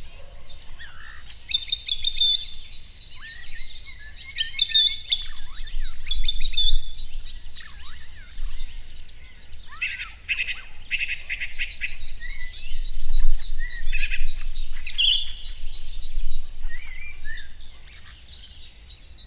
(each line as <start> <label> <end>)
0.0 morning birdscape in the fields 19.2